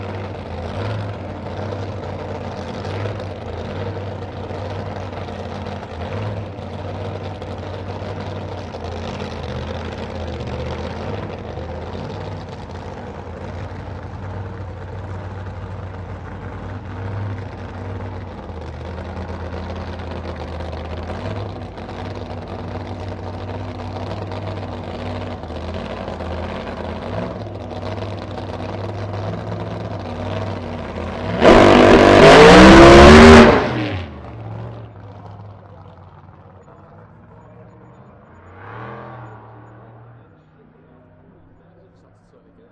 Dragster 0:00.0 - 0:42.7

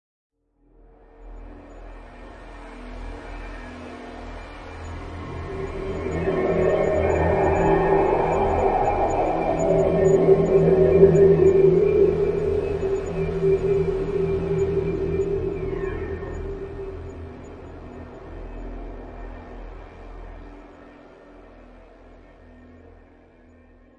Loud Drone 0:03.7 - 0:18.8

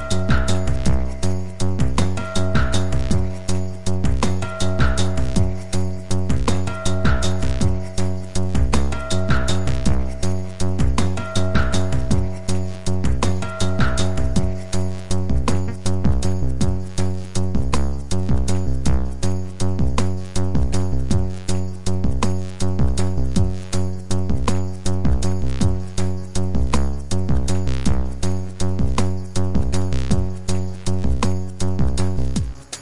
synthesizer 0:00.0 - 0:32.8

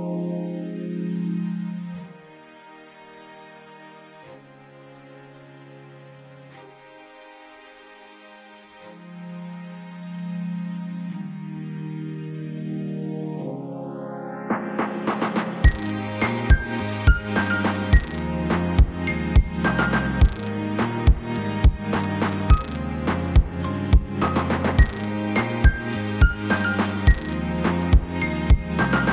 strings 0:00.0 - 0:29.1
Hip Hop Beat 0:14.4 - 0:29.1

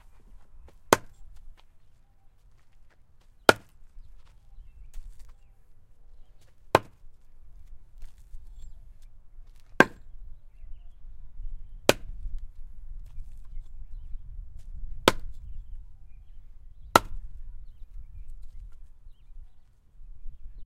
Wood chopping 0:00.8 - 0:01.4
Wood chopping 0:03.4 - 0:03.8
Wood chopping 0:06.7 - 0:07.1
Wood chopping 0:09.5 - 0:10.1
Wood chopping 0:11.8 - 0:12.2
Wood chopping 0:14.9 - 0:15.4
Wood chopping 0:16.9 - 0:17.3

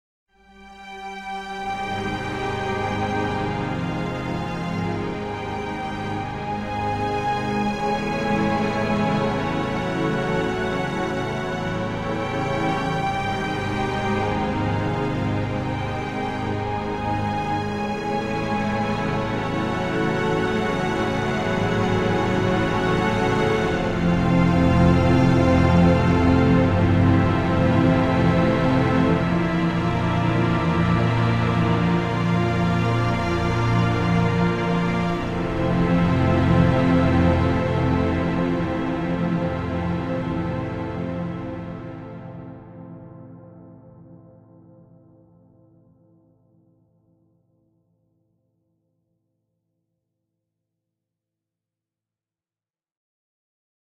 Orchestral Strings 0:00.5 - 0:42.8

